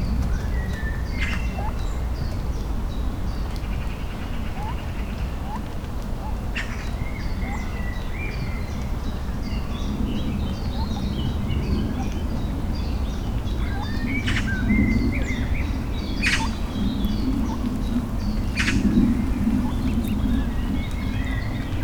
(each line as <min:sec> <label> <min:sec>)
0:00.0 noise of the surrounding city 0:21.8
0:16.2 their squawking 0:20.7